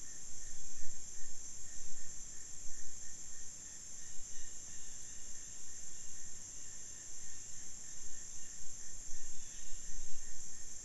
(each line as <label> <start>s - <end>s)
insects 0.0s - 10.8s